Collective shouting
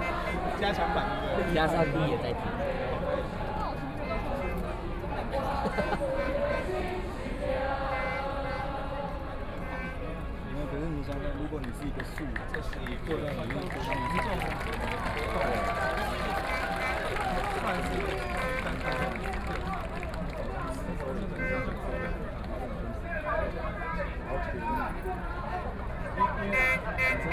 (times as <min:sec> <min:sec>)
0:13.8 0:20.2